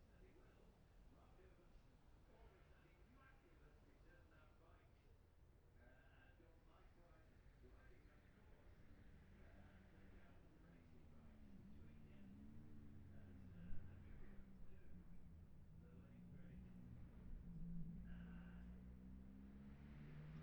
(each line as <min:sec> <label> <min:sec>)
0:08.6 road racing 0:20.4